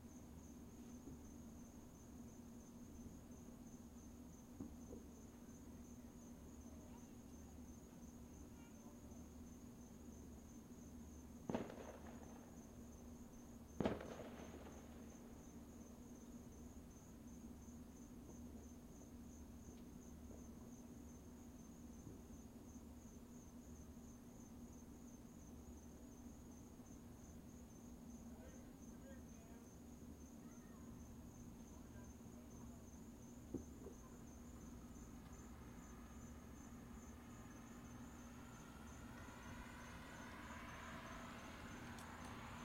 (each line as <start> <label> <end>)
11.4 Fireworks 16.9
11.4 occasional rocket or mortar 12.9
13.7 occasional rocket or mortar 15.6
31.4 Fireworks 42.6